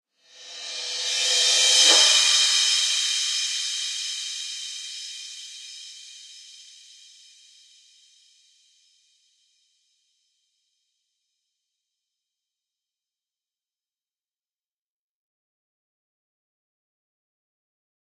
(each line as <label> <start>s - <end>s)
Reverse Cymbal 0.2s - 8.2s